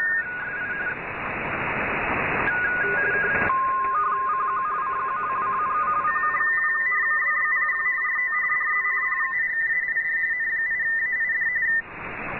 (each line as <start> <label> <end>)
2.4 RTTY 11.8